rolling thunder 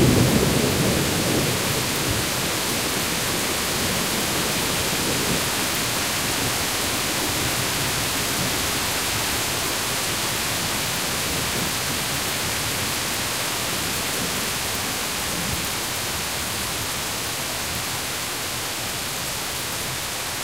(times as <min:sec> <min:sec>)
0:00.0 0:06.6